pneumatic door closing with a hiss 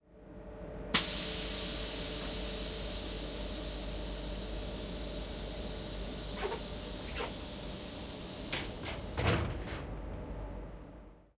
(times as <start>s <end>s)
1.0s 9.9s